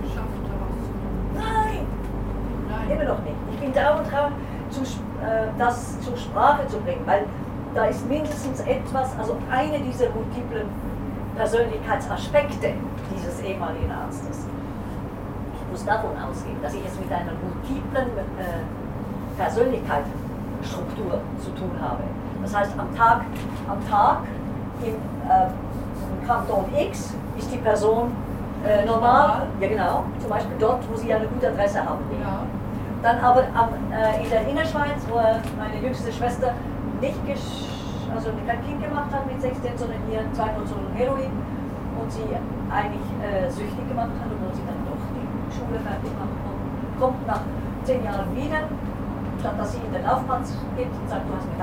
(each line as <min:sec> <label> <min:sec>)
0:01.3 woman holding a strange speech 0:01.9